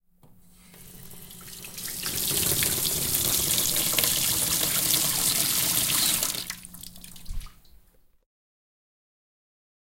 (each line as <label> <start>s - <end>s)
Sink Tap 0.8s - 6.4s